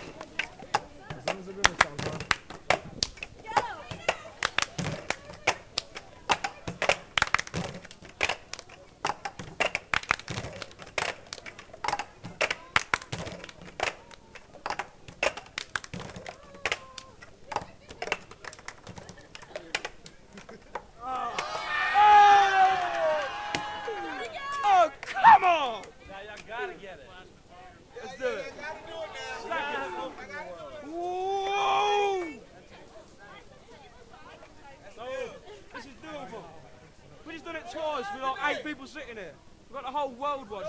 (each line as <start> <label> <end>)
1.3 handclap 17.1
22.6 handclap 26.0